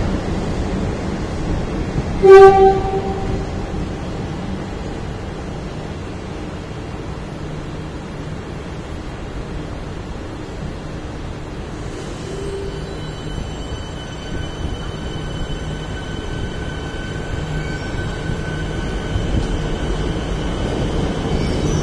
Riding a train 0:00.0 - 0:21.8

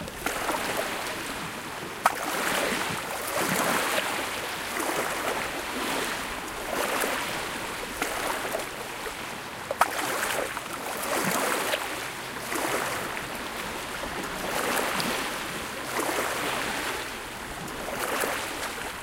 natural sea wave 0:00.0 - 0:19.0

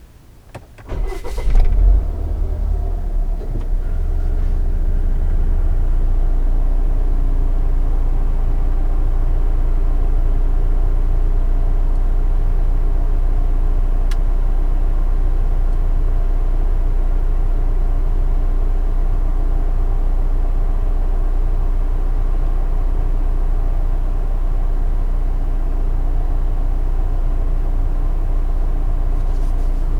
Car Volvo XC40 Int Start Run Stop 0:00.3 - 0:06.2

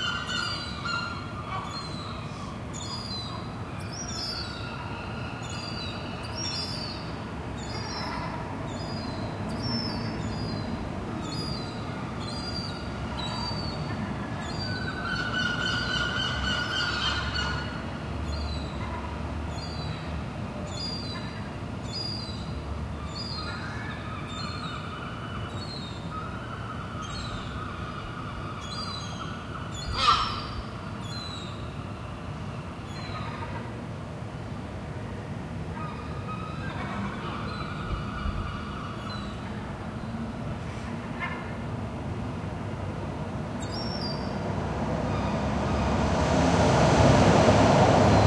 Seagulls 0:00.0 - 0:02.2
Seagulls 0:12.3 - 0:17.8
Seagulls 0:23.2 - 0:31.5

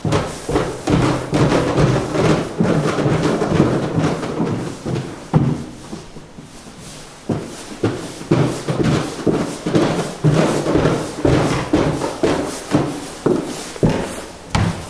very fast footsteps on wooden stairs 0:00.0 - 0:14.8

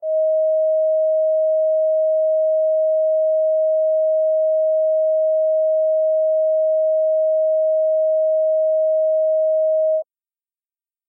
sine wave signals-630hz 0:00.0 - 0:10.0

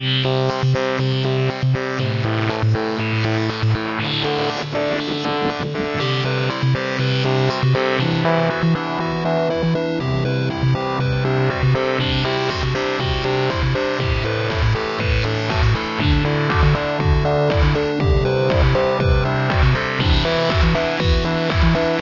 synth 0:00.2 - 0:22.0
beat 0:04.1 - 0:09.3
beat 0:10.9 - 0:22.0

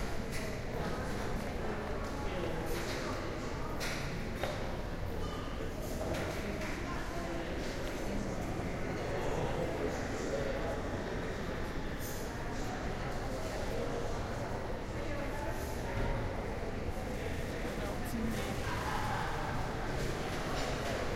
people 0:00.0 - 0:21.1

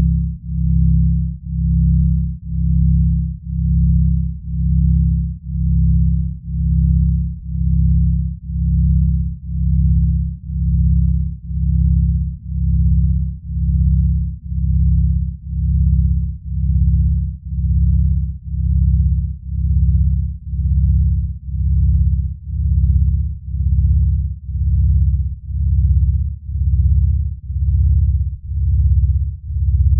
sine wave synthesized organ 0:00.0 - 0:29.9

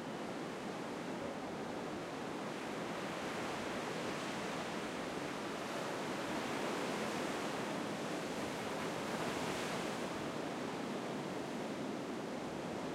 waves coming in under the Manhattan Beach Pier 0:00.2 - 0:12.9

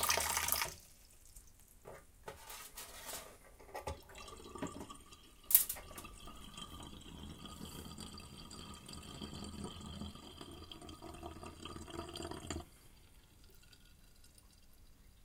water draining in sink 0:00.0 - 0:00.9
water draining in sink 0:03.8 - 0:15.2

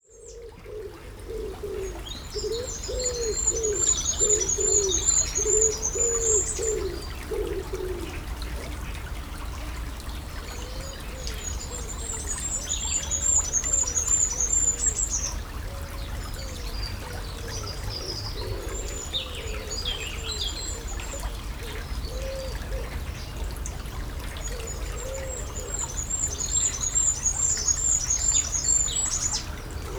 water flowing through a stream 0:00.0 - 0:29.9

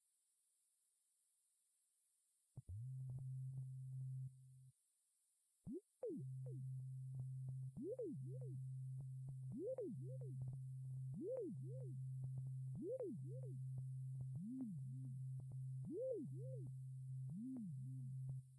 synthesizer 0:09.4 - 0:18.5

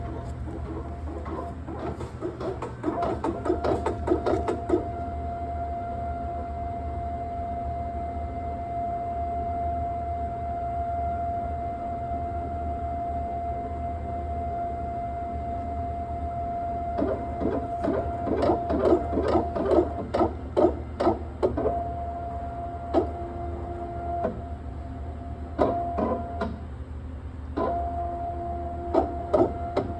grinding noises that come from the machine 0:00.0 - 0:07.2
grinding noises that come from the machine 0:15.5 - 0:26.7
grinding noises that come from the machine 0:27.6 - 0:29.9

